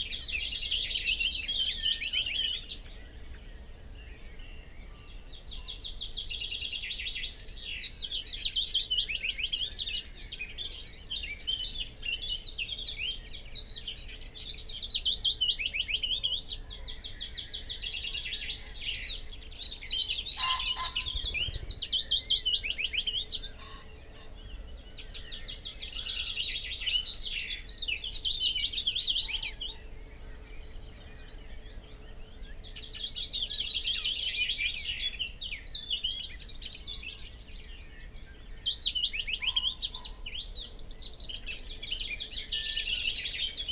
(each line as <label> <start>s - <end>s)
Willow warbler song and call 0.0s - 43.7s
background noise 0.0s - 43.7s
blackbird 7.4s - 43.7s
common pheasant 15.9s - 35.0s
crow 20.4s - 21.3s
common pheasant 38.7s - 43.7s